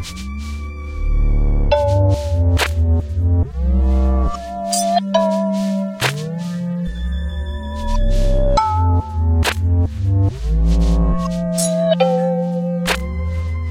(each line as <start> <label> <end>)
4.5 experimental electronic beat 13.7